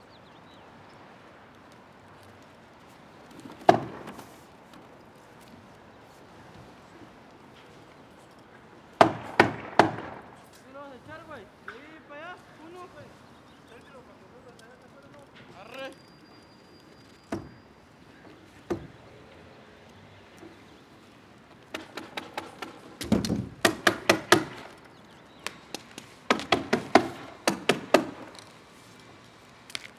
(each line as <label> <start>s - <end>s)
neighborhood traffic 0.0s - 29.9s
roofing crew hammering on plastic covering 2.1s - 29.9s